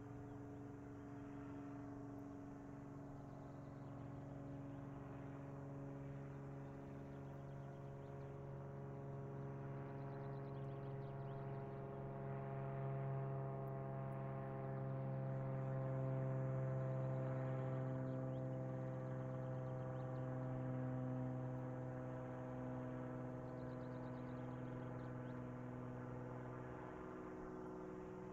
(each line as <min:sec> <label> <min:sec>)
0:00.0 airplane 0:28.3